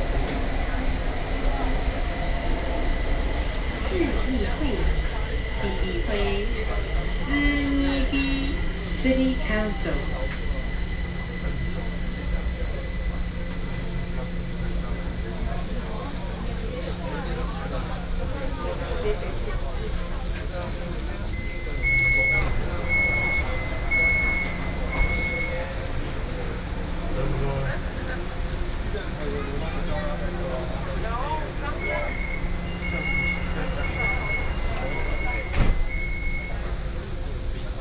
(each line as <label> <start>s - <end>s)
inside the MRT train 0.0s - 37.8s